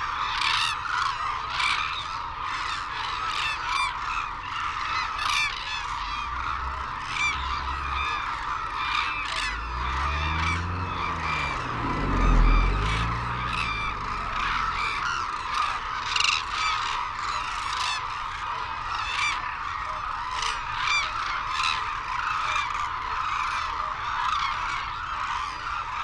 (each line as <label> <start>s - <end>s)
calls and flight calls from white naped cranes and hooded cranes 0.0s - 26.0s
windy 1.8s - 21.2s